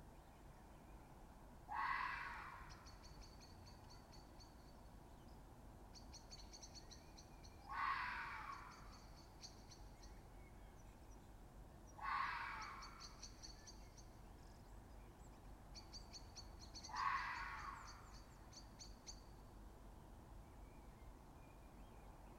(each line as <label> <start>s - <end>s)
Fox Screaming 1.7s - 2.7s
Fox Screaming 7.7s - 8.8s
Fox Screaming 12.0s - 12.9s
Fox Screaming 16.9s - 17.9s